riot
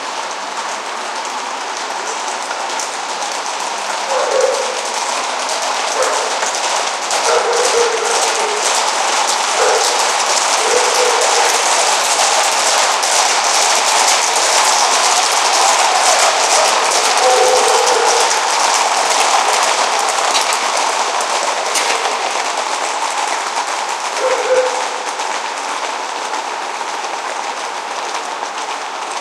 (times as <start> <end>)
4.1 25.7